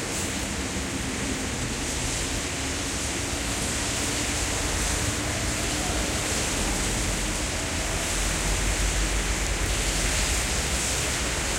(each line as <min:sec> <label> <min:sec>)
0:00.0 Trains 0:11.5
0:00.0 cars passing by 0:11.5
0:03.6 people talking 0:10.5